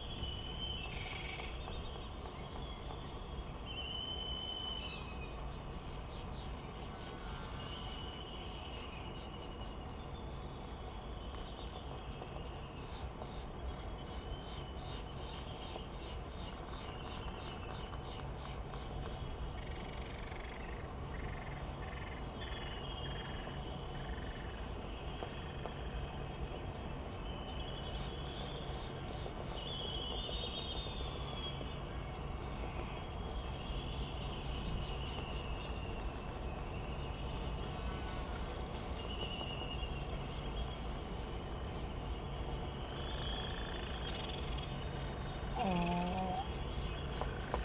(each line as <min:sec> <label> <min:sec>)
0:45.5 laysan albatross 0:46.6